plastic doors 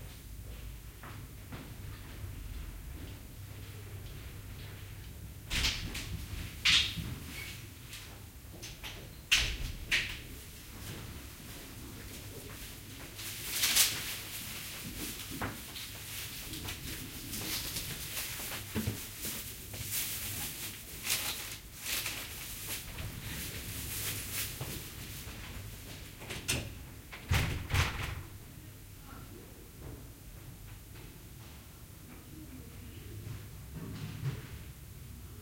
26.2s 28.4s

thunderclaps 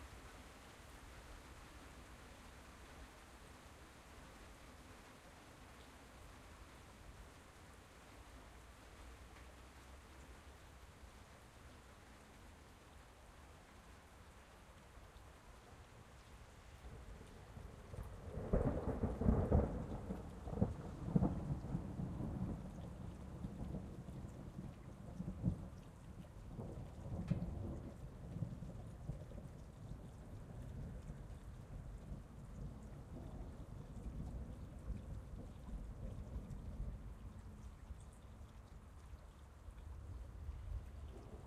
18.0s 29.5s

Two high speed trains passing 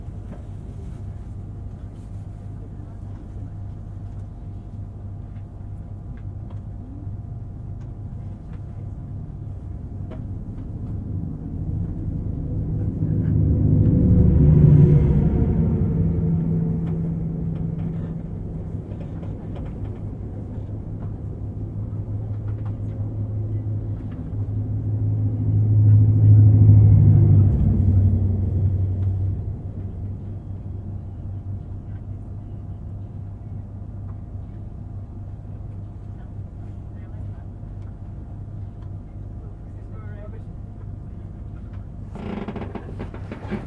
10.9s 22.6s, 23.2s 30.9s

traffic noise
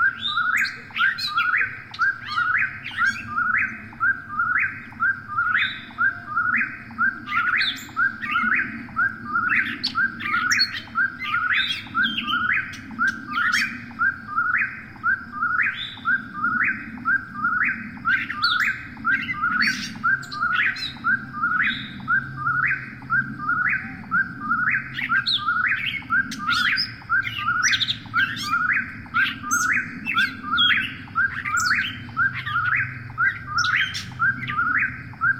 18.8s 35.3s

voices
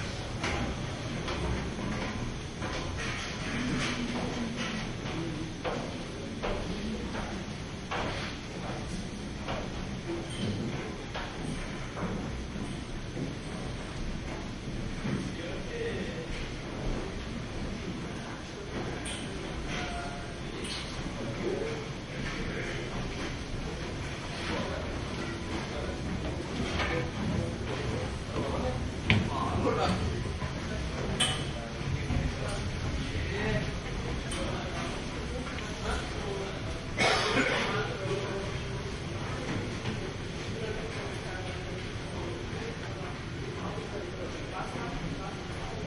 14.5s 45.8s

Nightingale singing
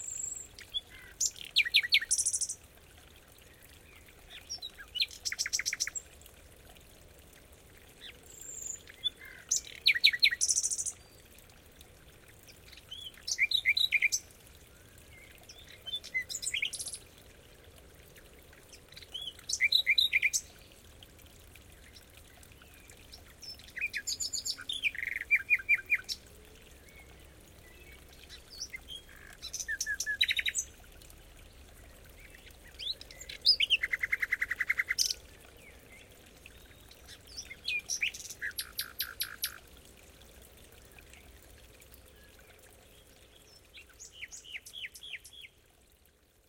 12.8s 14.2s, 23.4s 26.2s

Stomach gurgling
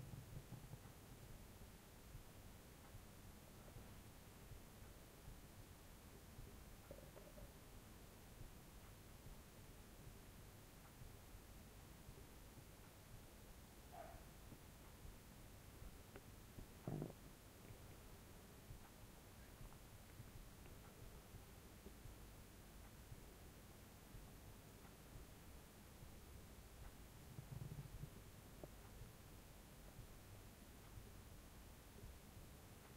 16.8s 17.2s, 27.3s 28.2s

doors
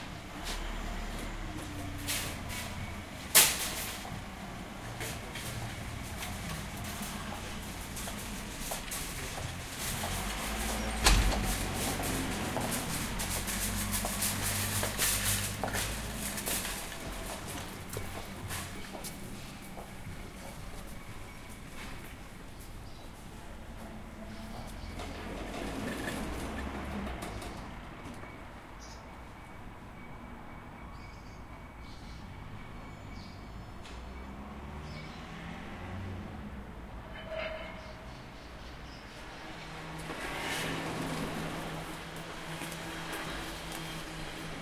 4.9s 19.0s

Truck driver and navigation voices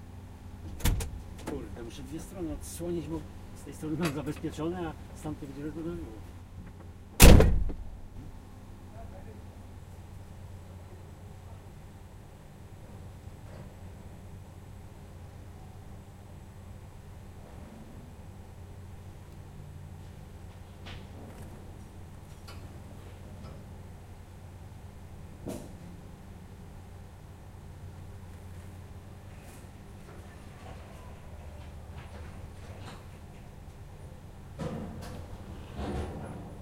1.4s 6.3s

